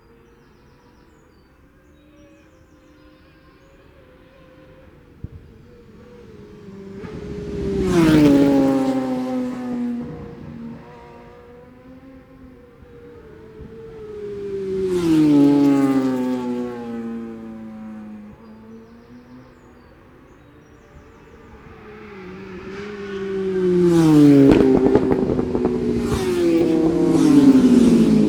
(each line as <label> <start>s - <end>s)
Senior motorcycle practice 2.6s - 28.2s